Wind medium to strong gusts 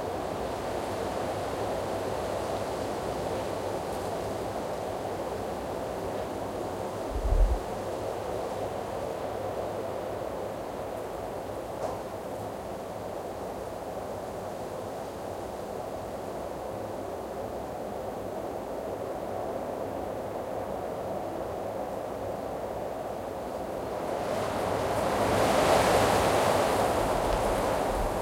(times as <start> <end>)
0.4 9.4, 15.2 28.2